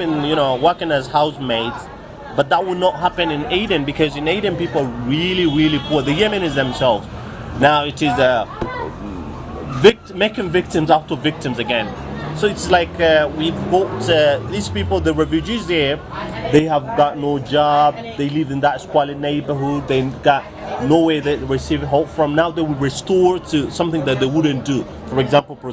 0.0s Taxi driver in Sana'a talk 25.7s

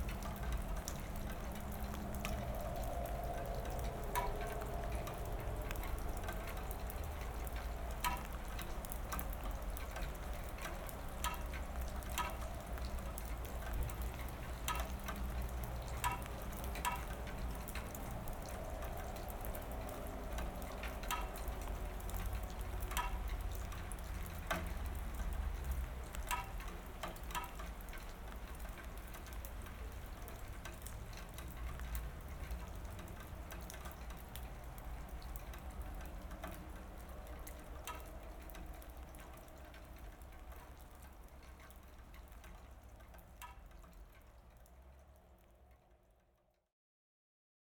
0.0s rain ends 46.3s

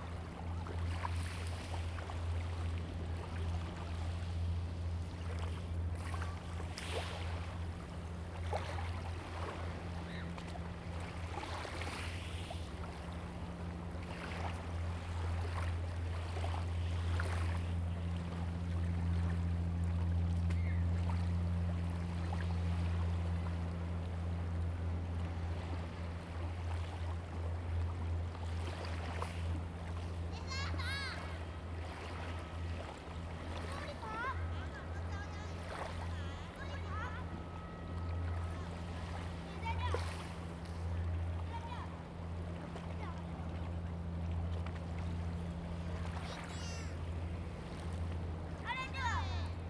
27.2s wave 49.6s

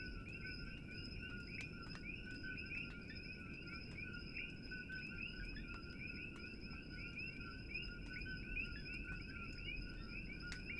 0.0s Coqui's -tree frogs- 10.7s

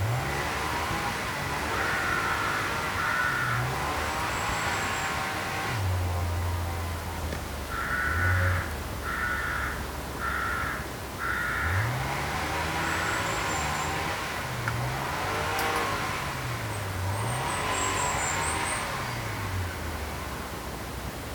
0.0s noise from a strimmer 7.4s
0.0s crows protest against the motor noise 20.9s
11.5s noise from a strimmer 20.6s

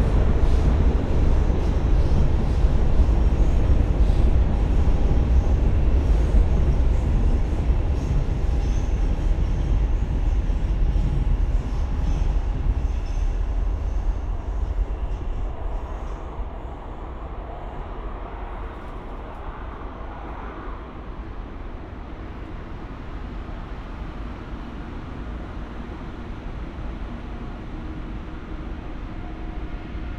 0.0s trains traffic passing on various layers 30.1s

